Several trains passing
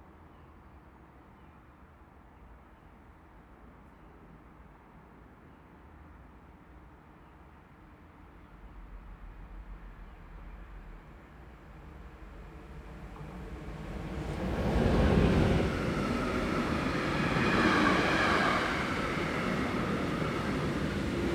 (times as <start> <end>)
9.0 21.3